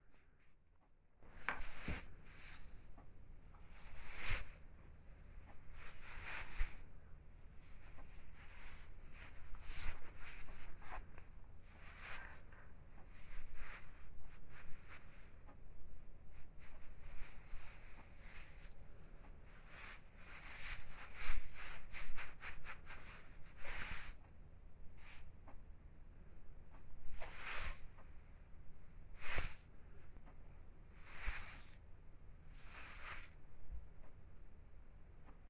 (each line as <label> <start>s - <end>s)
rustling cloth/ clothing 1.2s - 24.3s
rustling cloth/ clothing 24.9s - 25.5s
rustling cloth/ clothing 26.8s - 34.2s